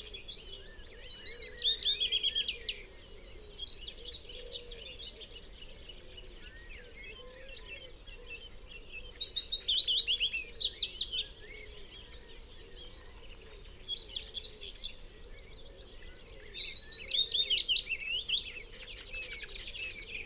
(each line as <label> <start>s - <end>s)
background noise 0.0s - 20.2s
blackbird 0.0s - 20.2s
pheasant 0.0s - 20.2s
willow warbler song 12.1s - 20.2s